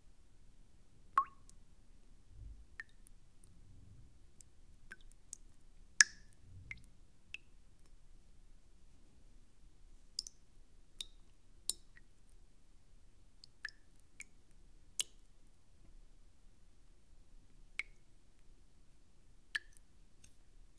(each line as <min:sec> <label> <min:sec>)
0:01.1 water drops in a bowl 0:01.6
0:06.0 water drops in a bowl 0:07.5